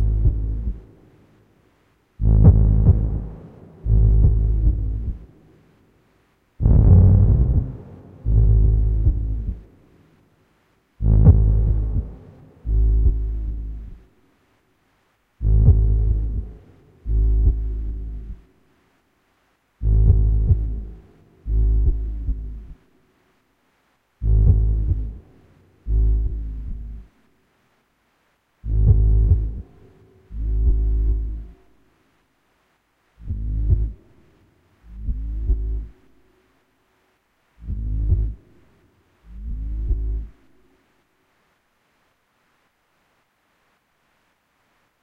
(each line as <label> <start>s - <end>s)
Pulsing rumbling drone sound 0.0s - 0.9s
Pulsing rumbling drone sound 2.2s - 5.3s
Pulsing rumbling drone sound 6.6s - 9.7s
Pulsing rumbling drone sound 11.0s - 14.1s
Pulsing rumbling drone sound 15.4s - 18.4s
Pulsing rumbling drone sound 19.8s - 22.8s
Pulsing rumbling drone sound 24.2s - 25.2s
Pulsing rumbling drone sound 25.8s - 27.2s
Pulsing rumbling drone sound 28.6s - 31.6s
Pulsing rumbling drone sound 33.2s - 34.0s
Pulsing rumbling drone sound 34.8s - 36.0s
Pulsing rumbling drone sound 37.6s - 38.5s
Pulsing rumbling drone sound 39.2s - 40.4s